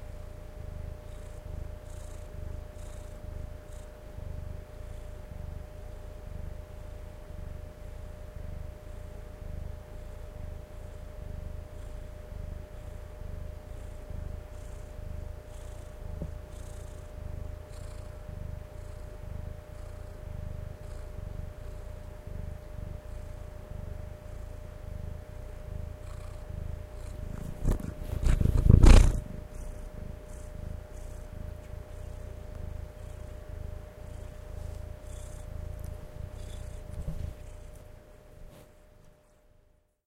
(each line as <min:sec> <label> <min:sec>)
0:08.3 purring session 0:38.4